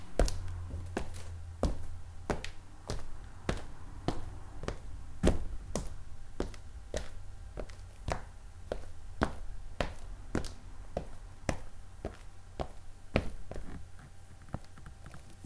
footsteps 0:00.0 - 0:15.4

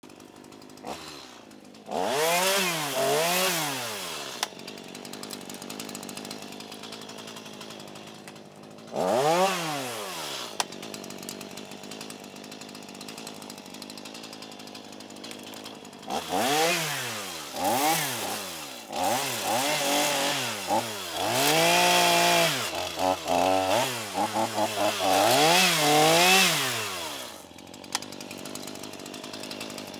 small chainsaw cutting down overgrown bushes 0:00.0 - 0:29.9

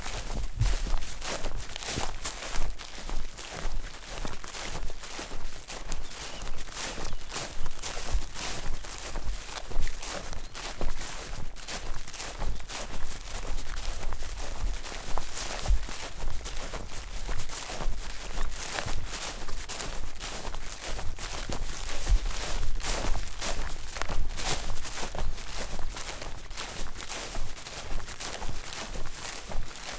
Walking though grassy field 0:00.0 - 0:29.9

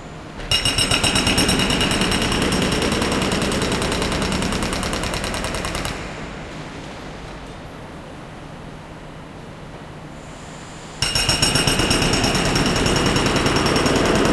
Air Hammer 0:00.5 - 0:06.3
Air Hammer 0:10.8 - 0:14.3

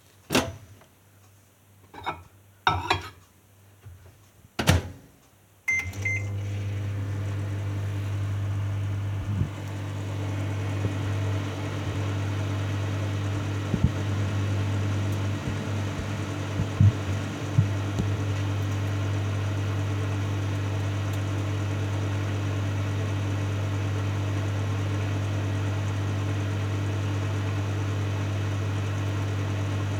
beeping 0:05.7 - 0:06.4
Microwave turning on and running 0:05.7 - 0:29.9

